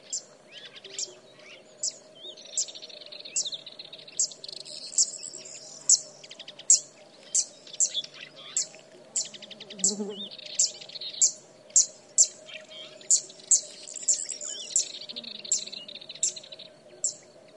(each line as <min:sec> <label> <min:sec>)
0:00.0 insects 0:17.5
0:00.0 Fan-tailed Warbler callings 0:17.2